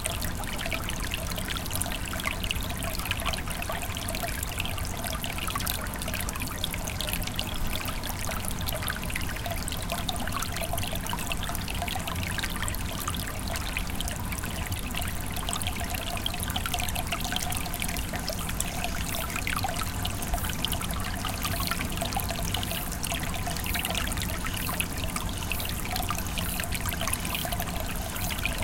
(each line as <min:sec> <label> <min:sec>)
0:00.0 Water flow quietly 0:28.6